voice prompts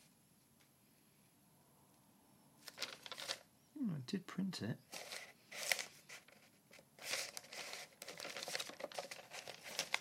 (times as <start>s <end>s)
3.8s 4.8s